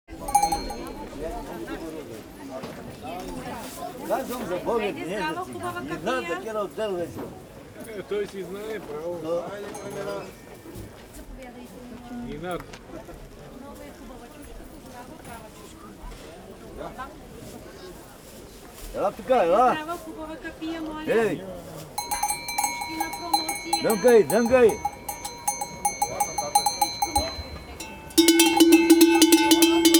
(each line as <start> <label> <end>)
0.1 different little bells 1.7
9.8 different little bells 10.5
22.0 different little bells 29.9